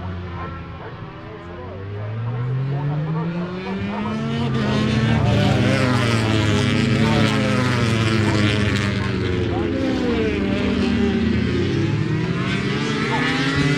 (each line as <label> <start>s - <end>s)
motorcycle grand prix 0.0s - 13.7s